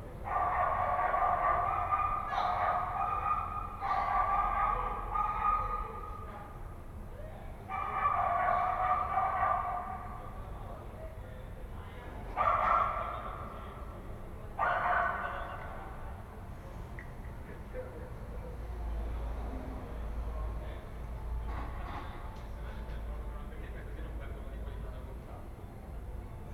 dog 0:00.3 - 0:06.3
dog 0:07.7 - 0:10.2
dog 0:12.4 - 0:13.4
dog 0:14.6 - 0:15.7

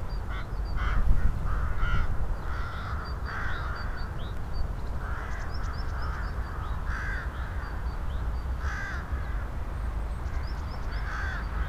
caws of a flock of crows 0:00.3 - 0:04.2
caws of a flock of crows 0:05.0 - 0:07.8
caws of a flock of crows 0:08.6 - 0:09.6
caws of a flock of crows 0:10.3 - 0:11.6

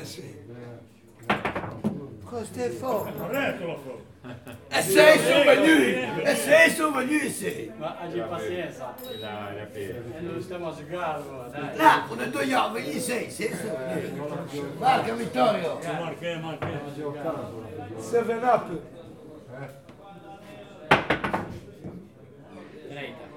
men throw billiard balls on the billiard table 0:01.2 - 0:02.2
men throw billiard balls on the billiard table 0:20.9 - 0:22.1

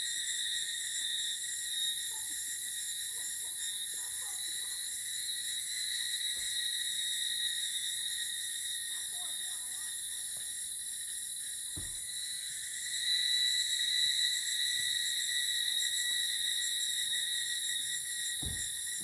Cicada sounds 0:00.0 - 0:19.0

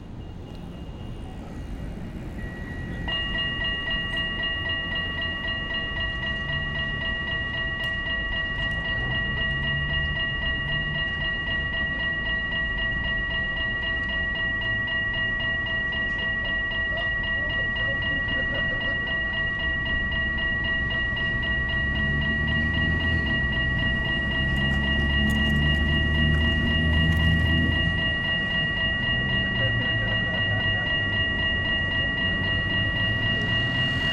tramways pass 0:00.0 - 0:34.1

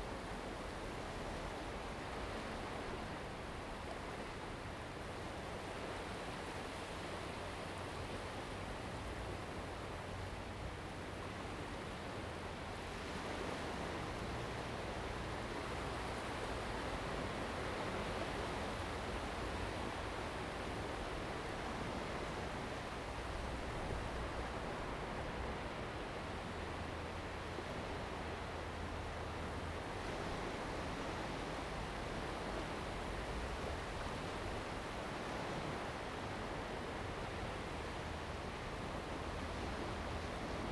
Waves and tides 0:00.0 - 0:40.7

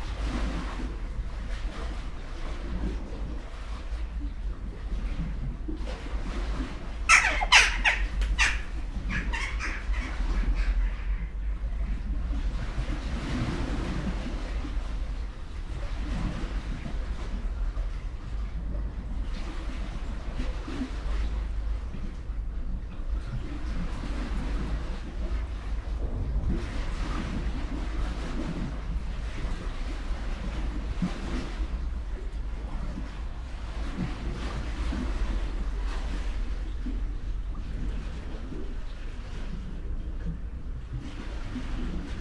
waves 0:00.0 - 0:42.2
black birds flying over roofs 0:06.4 - 0:11.9

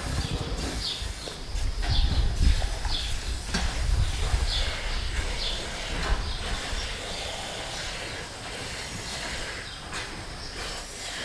cow is drinking from the water dispenser 0:00.0 - 0:11.2

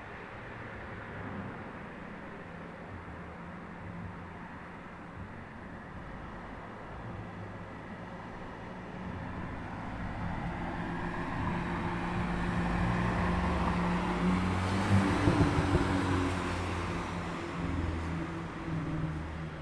Traffic cars 0:00.0 - 0:19.6

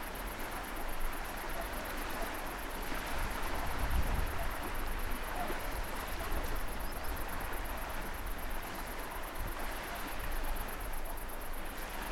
crickets 0:00.0 - 0:12.1
waves 0:00.0 - 0:12.1

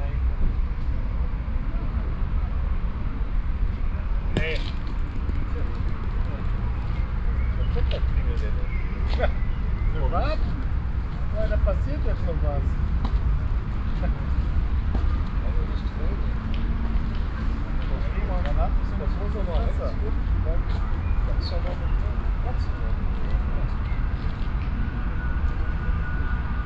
clicking metall balls 0:04.4 - 0:06.4

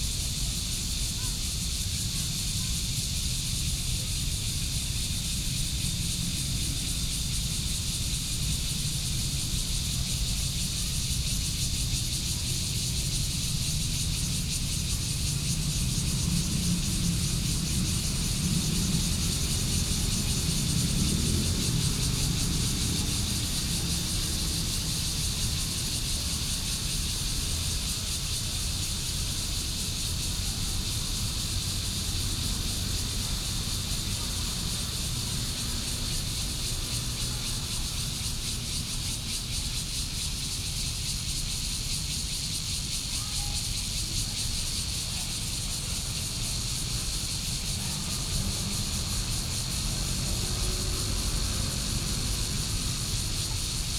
Cicadas sound 0:00.0 - 0:53.9
Traffic Sound 0:05.4 - 0:39.3
Traffic Sound 0:44.8 - 0:53.9

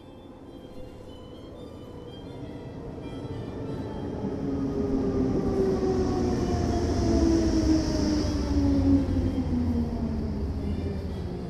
Harmonica player 0:00.0 - 0:04.3

